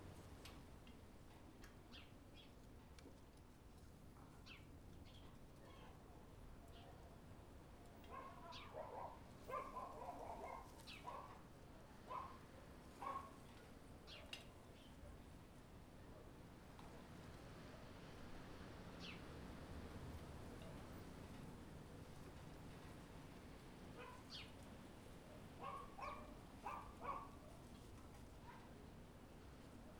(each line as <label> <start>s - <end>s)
light breeze 0.0s - 29.9s